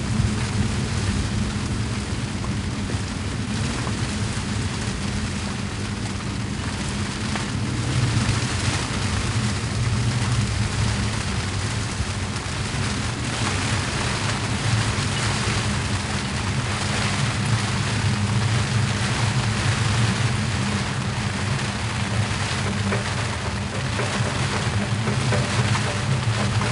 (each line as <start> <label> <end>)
0.0 Storm 26.7